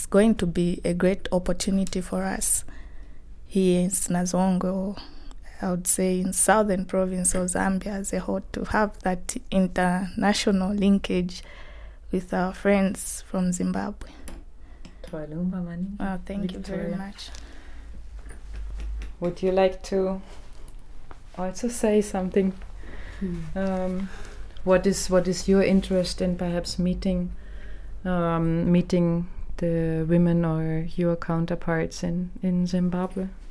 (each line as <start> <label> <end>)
15.0 longer conversation 17.6
21.4 longer conversation 27.2